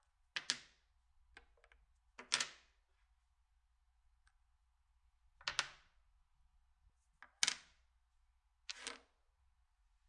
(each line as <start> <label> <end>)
0.0 domino stone on the table 3.2
4.1 domino stone on the table 6.2
6.9 domino stone on the table 9.4